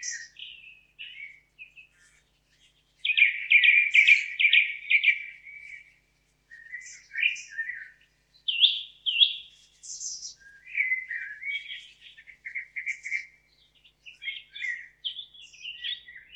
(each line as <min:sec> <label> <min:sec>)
0:00.0 Bird Singing with hot loud voices 0:16.3